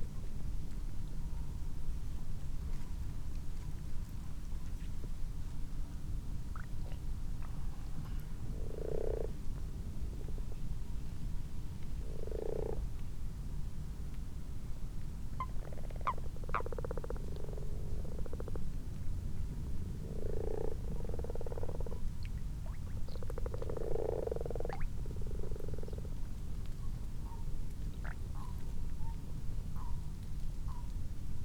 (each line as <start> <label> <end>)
1.5 common toads in a garden pond 13.5
6.5 common frogs 10.6
11.9 common frogs 13.0
14.7 common toads in a garden pond 31.4
15.4 common frogs 18.8
19.7 common frogs 29.2